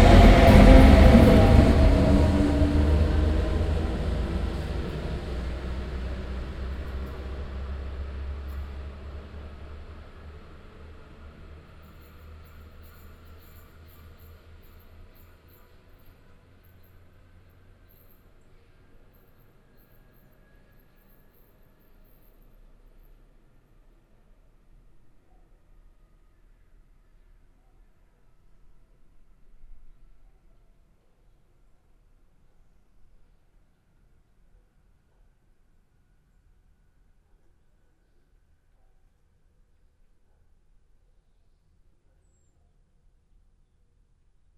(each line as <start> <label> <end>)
0.0 train driving in 21.4
0.0 passengers enter the train 23.8
0.0 train leaves the station 24.8